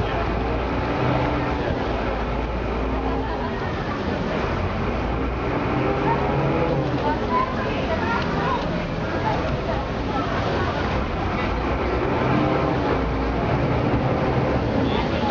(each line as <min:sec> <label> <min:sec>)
0:00.0 chatter of other passengers on the boat 0:15.3
0:00.0 water 0:15.3
0:04.0 engine revving 0:09.3
0:10.4 engine revving 0:15.3